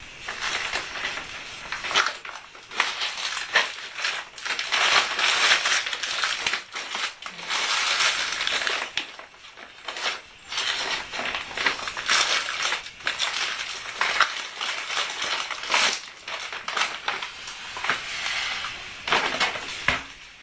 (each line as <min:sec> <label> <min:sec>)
0:00.0 rustle of searching nuts in a bag 0:20.4